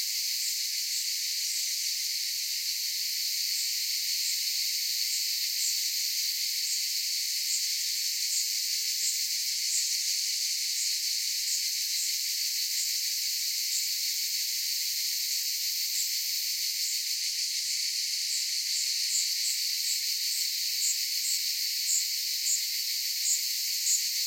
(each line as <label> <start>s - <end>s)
Cicadas 0.0s - 24.2s